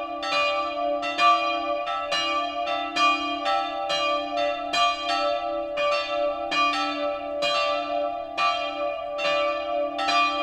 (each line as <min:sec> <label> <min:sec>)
0:00.0 church bells 0:10.4